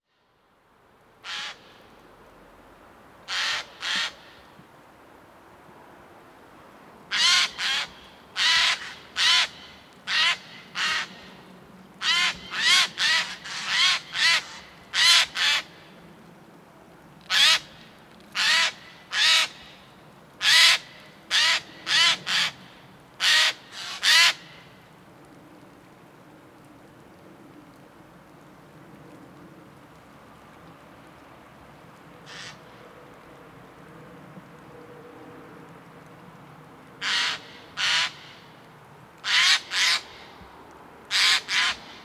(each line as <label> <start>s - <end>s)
Eurasian Jay near the lake 0.0s - 42.0s